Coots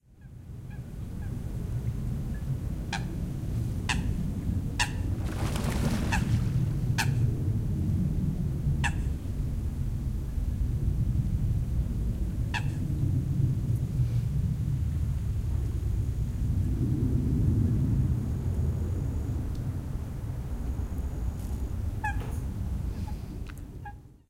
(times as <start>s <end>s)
4.8s 7.3s, 22.0s 22.4s